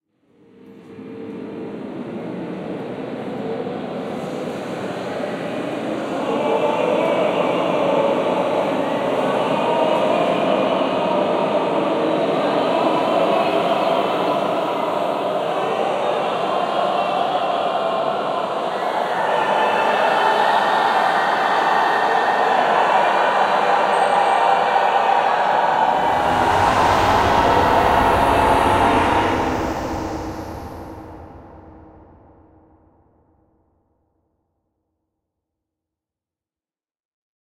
voices reverb 1.4 - 33.0

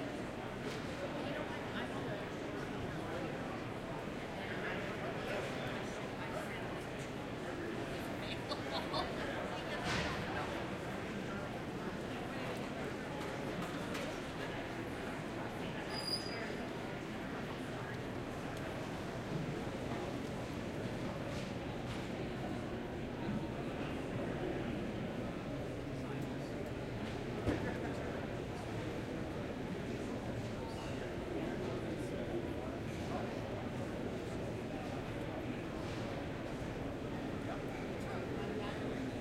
Crowd Medium 0.0 - 39.2

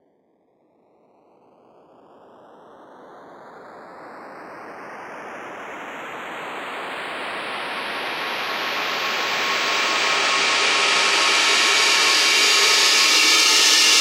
Riser Cymbal 7.3 - 14.0

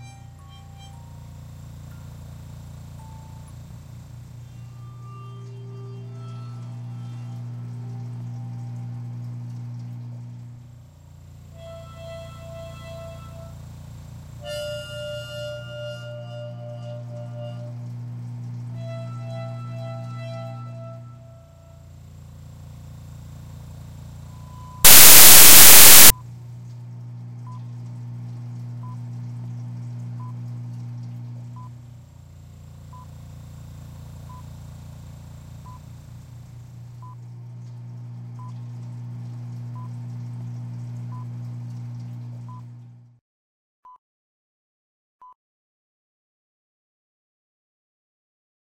projection machines 24.9 - 26.1

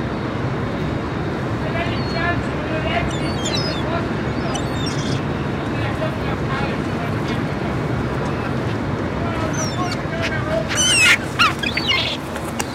seagulls 1.8 - 5.3
chickens 8.1 - 12.7
seagulls 8.2 - 12.7

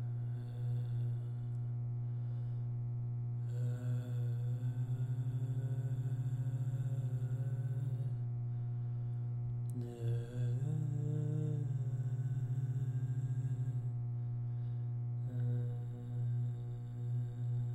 man singing 9.7 - 13.9

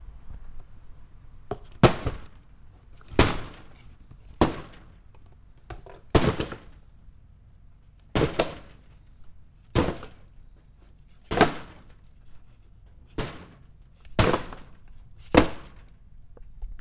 Plastic blinds hit by cardboard box 1.5 - 7.2
Plastic blinds hit by cardboard box 8.0 - 16.0

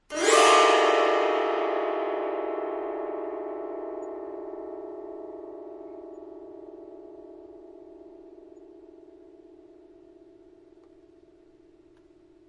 full chromatic gliss on a fretless zither 0.0 - 12.4

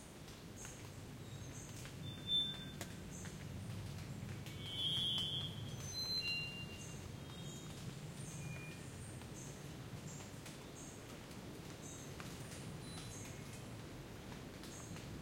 rain 0.0 - 15.2
wind 0.0 - 15.2
birds 0.6 - 11.1

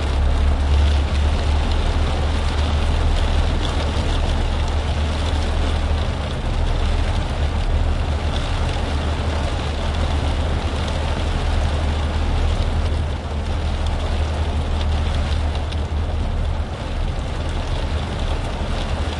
rain beating on a truck cab 0.0 - 19.1

